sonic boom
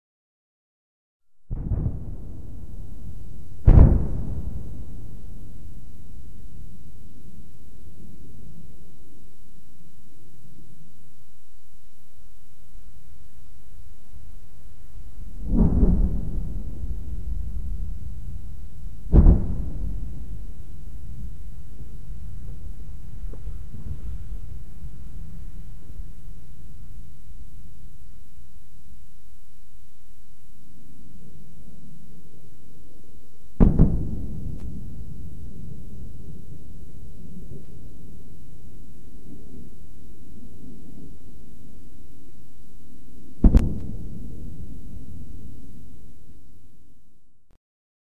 0:01.5 0:08.8, 0:14.6 0:27.5, 0:33.6 0:42.0, 0:43.2 0:46.8

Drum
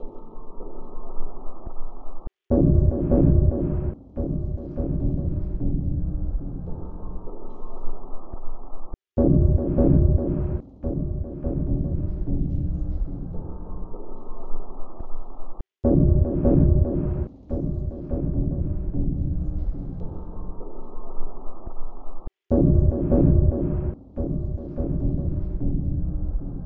0:02.5 0:06.9, 0:09.2 0:13.5, 0:15.8 0:20.3, 0:22.5 0:26.6

